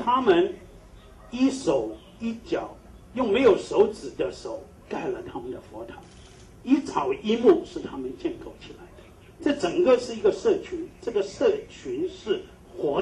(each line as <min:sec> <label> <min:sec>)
0:00.0 Press conference 0:13.0